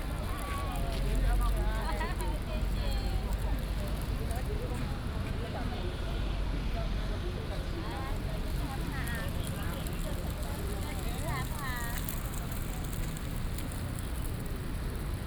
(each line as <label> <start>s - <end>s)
Traffic Sound 0.0s - 15.2s